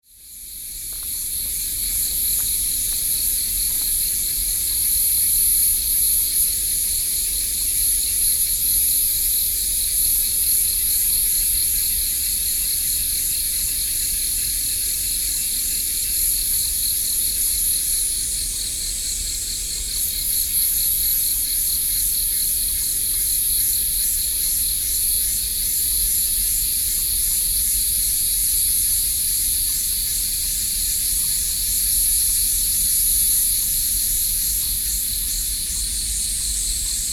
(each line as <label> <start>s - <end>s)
Cicadas 0.0s - 37.1s